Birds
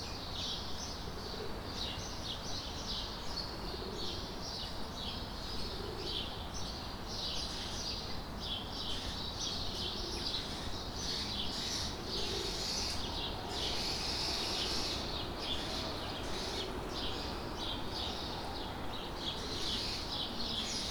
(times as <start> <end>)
5.5 20.9